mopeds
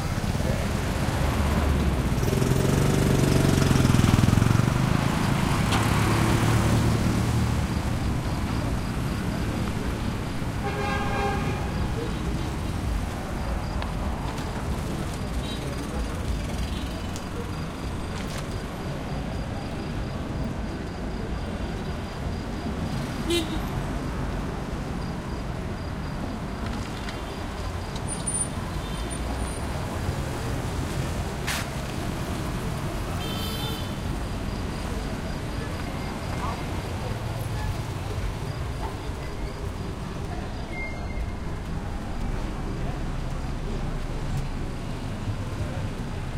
0:00.2 0:20.5

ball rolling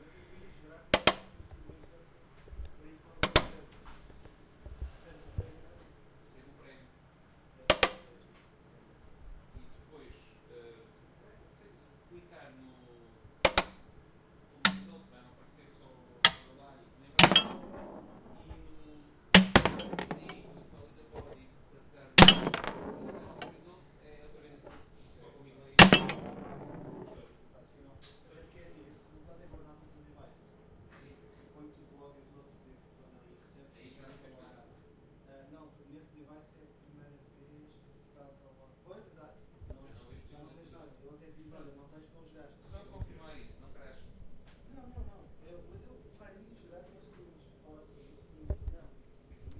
0:17.2 0:21.5, 0:22.2 0:24.8, 0:25.8 0:27.3

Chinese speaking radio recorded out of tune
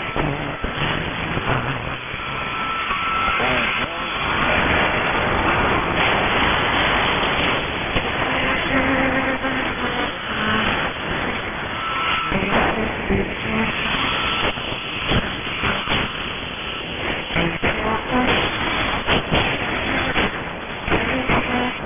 0:03.4 0:04.7

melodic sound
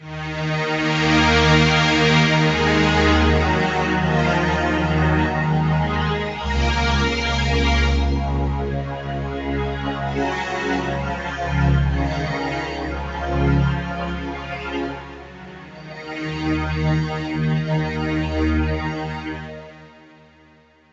0:06.4 0:08.8

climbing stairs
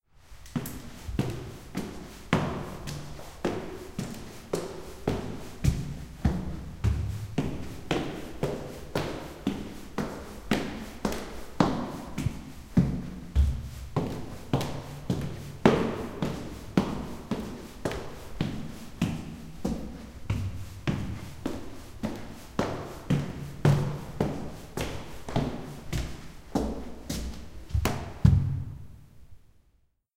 0:12.2 0:28.8

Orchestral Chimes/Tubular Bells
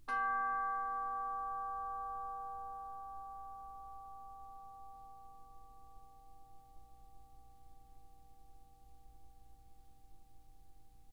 0:00.1 0:07.0

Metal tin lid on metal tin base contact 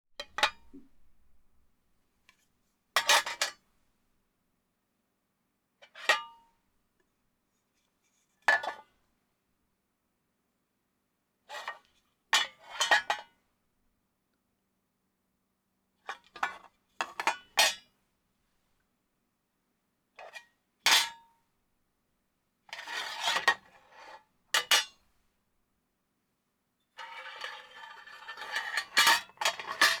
0:27.0 0:30.0

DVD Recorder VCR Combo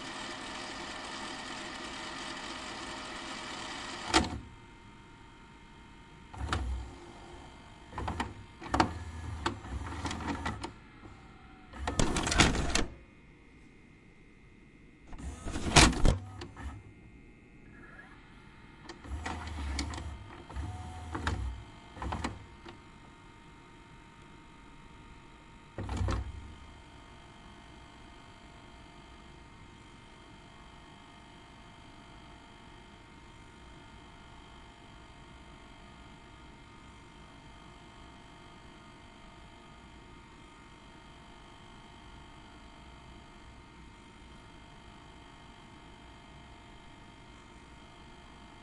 0:00.0 0:04.5, 0:06.4 0:07.0, 0:07.9 0:10.8, 0:11.6 0:13.0, 0:15.1 0:16.8, 0:18.9 0:22.8, 0:25.8 0:26.6

